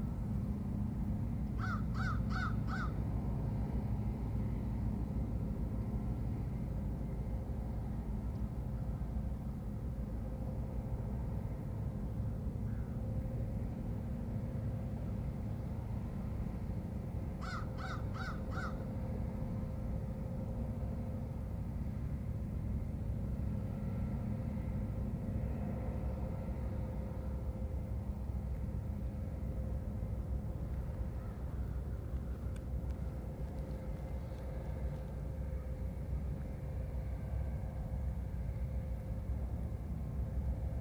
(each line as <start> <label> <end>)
0.0 Departing ferry 40.8
1.6 Crows caw 3.0
17.4 Crows caw 18.8